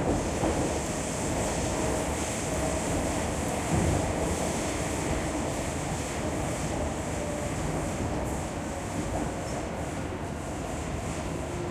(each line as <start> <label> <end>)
0.0 Trains 11.7